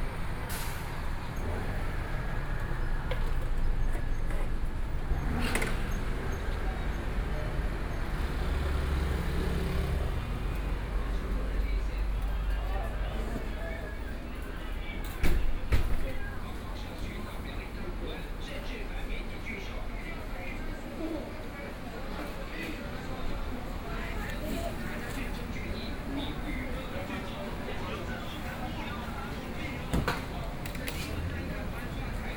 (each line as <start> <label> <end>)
0.0 Traffic Sound 32.3
0.0 Walking on the street 32.3
21.1 restaurant's sound 32.3